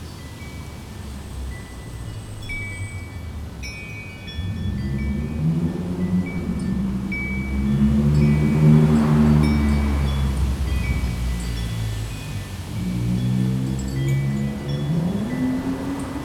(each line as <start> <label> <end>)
0.0 cars 16.2
0.0 wind 16.2